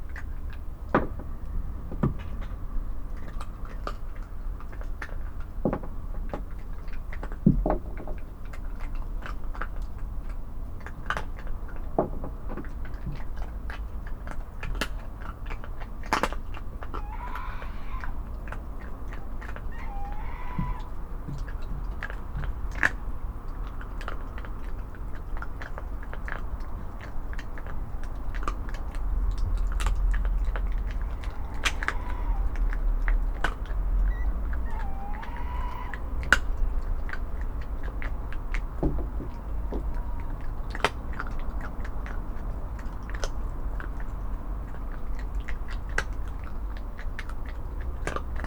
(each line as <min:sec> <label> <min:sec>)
0:00.0 fox is munching bones 0:48.4
0:16.8 Owls call 0:21.5
0:29.7 Owls call 0:37.0
0:38.8 Owls call 0:40.9